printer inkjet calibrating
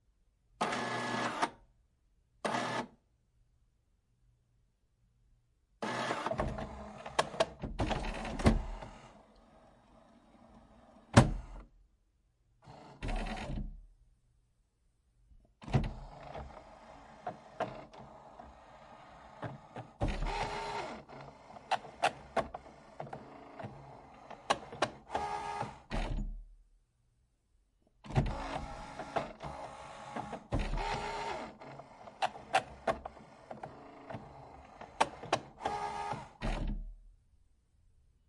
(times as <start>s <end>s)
0.6s 1.6s, 2.4s 2.9s, 5.8s 9.2s, 12.7s 13.7s, 15.7s 26.2s, 28.1s 36.8s